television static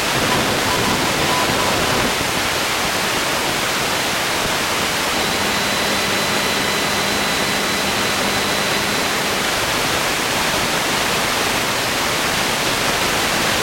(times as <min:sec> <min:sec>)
0:00.0 0:03.0, 0:04.4 0:12.0